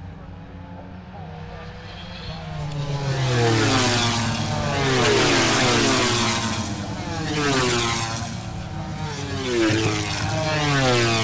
0.0s motorcycle grand prix 11.2s

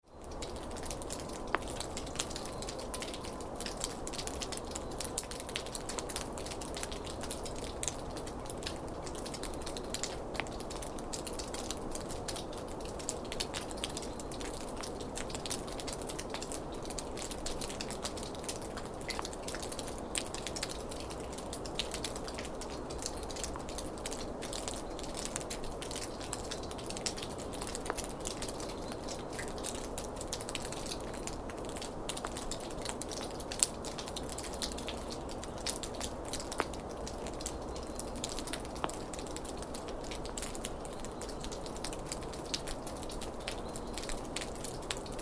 0.0s Thawing snow drips from under ski bridge 45.2s

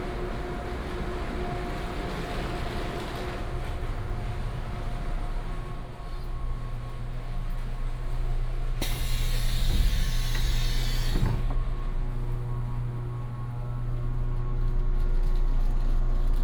0.0s Train arrived 14.7s
0.0s walking in the Station 16.4s

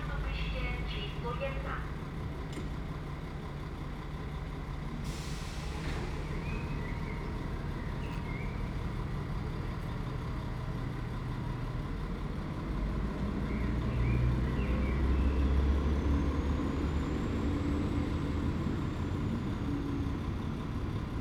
0.0s announcements 2.1s

